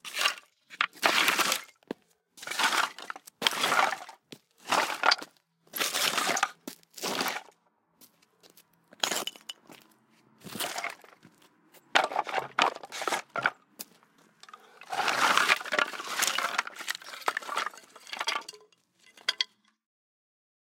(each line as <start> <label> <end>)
0.0 wood stone floor scraping pile 7.6
8.9 wood stone floor scraping pile 9.8
10.4 wood stone floor scraping pile 19.5